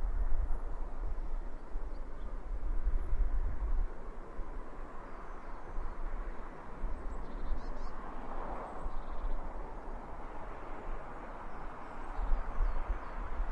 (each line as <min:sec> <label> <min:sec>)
0:00.0 wind rumble 0:13.5
0:00.0 passing cars with a natural reverb 0:13.5